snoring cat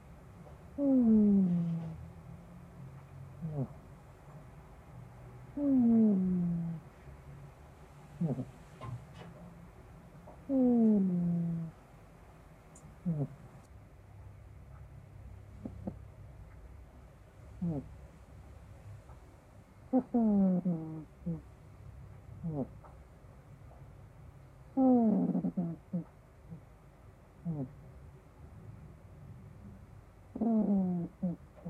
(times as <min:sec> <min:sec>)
0:00.8 0:02.0, 0:03.4 0:03.8, 0:05.5 0:06.8, 0:08.2 0:08.6, 0:10.5 0:11.8, 0:13.0 0:13.6, 0:15.6 0:16.0, 0:17.6 0:17.9, 0:19.9 0:21.4, 0:22.4 0:22.7, 0:24.8 0:26.1, 0:27.4 0:27.8, 0:30.3 0:31.6